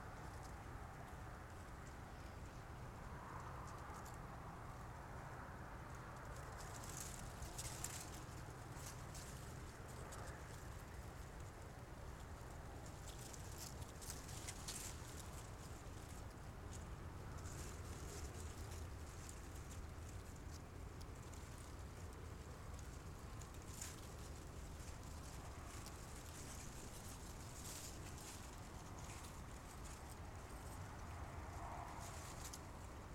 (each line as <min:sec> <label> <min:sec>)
0:00.0 close dried grass 0:33.1
0:00.0 distant traffic 0:33.1